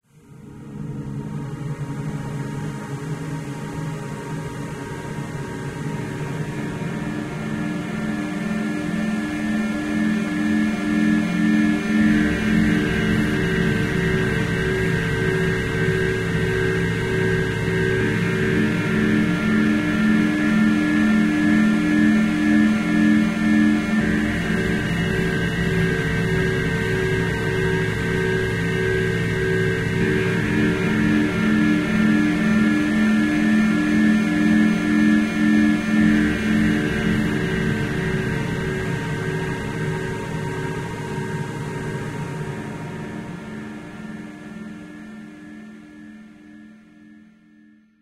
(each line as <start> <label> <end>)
0.2 synth drone 47.0